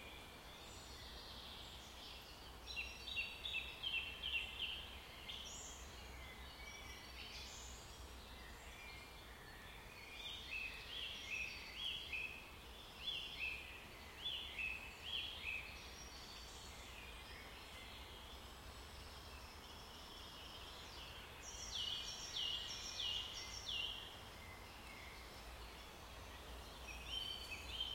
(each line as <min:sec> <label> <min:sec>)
0:00.0 birds 0:27.9